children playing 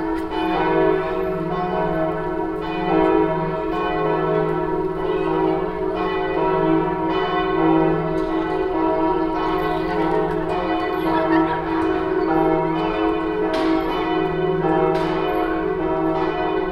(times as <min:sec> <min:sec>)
0:08.2 0:12.4